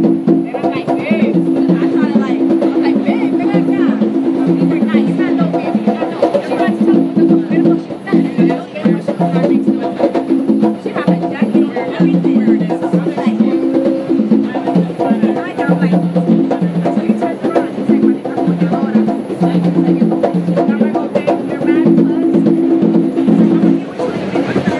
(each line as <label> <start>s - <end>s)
people chatting in the background 0.0s - 24.7s
percussionists playing for money on the train 0.0s - 24.7s
train 17.0s - 20.0s
train 23.8s - 24.7s